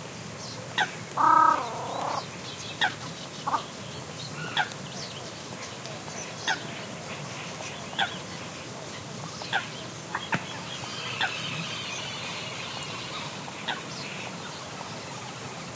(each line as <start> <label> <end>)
1.2 callings from Common Coot 2.2